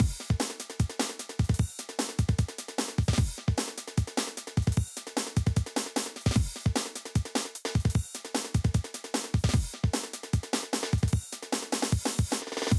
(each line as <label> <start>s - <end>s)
drum loop 0.0s - 12.7s